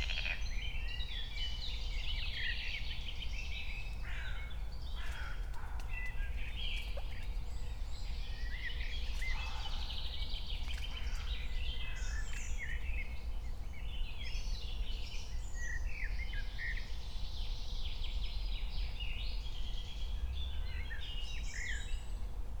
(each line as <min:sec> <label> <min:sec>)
0:00.0 frog 0:00.4
0:00.0 other birds 0:00.5
0:00.0 crows 0:00.6
0:04.1 crows 0:05.9